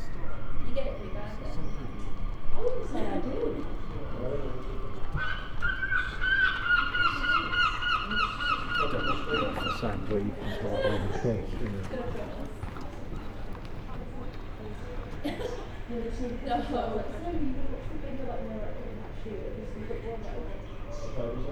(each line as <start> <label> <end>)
0.0 voices 21.5
4.1 gulls 11.4